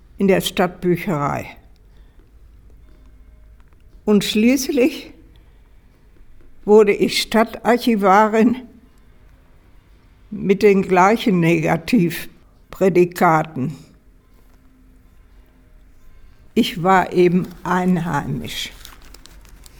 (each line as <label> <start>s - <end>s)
reads her bio 15.5s - 19.7s